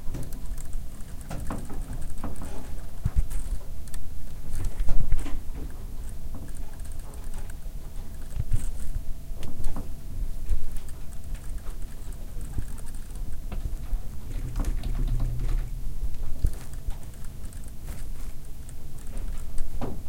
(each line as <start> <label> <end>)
0.0 typing 4.9
5.6 typing 9.0
10.5 typing 19.8
10.7 vibrations 19.8